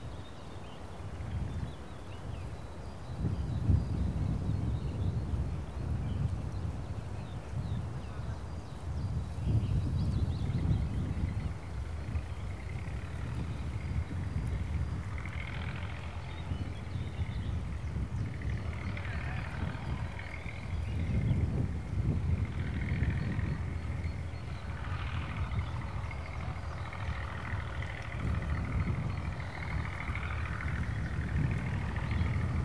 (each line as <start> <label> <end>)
11.8 tractor sowing grains 32.6